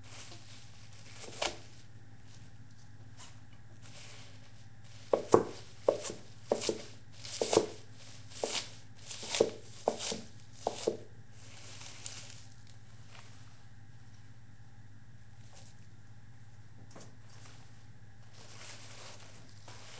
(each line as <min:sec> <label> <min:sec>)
0:05.0 chopping kale on a wood cutting board 0:11.1